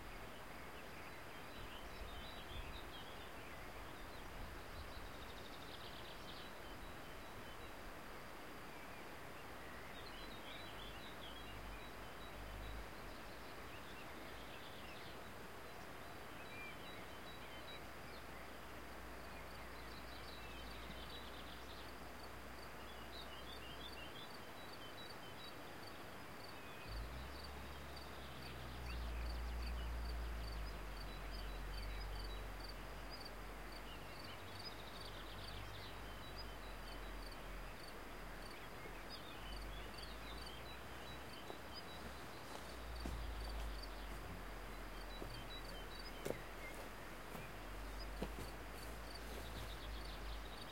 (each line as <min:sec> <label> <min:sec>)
0:00.0 birds 0:50.7